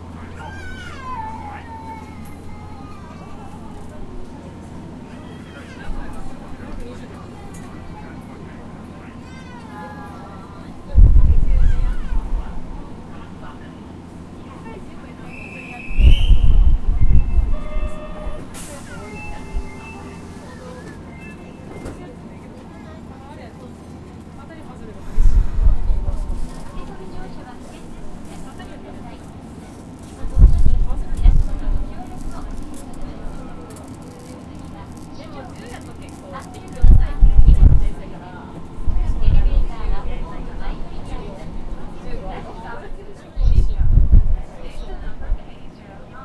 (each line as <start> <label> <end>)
0.0 people 46.2
0.0 subway 46.2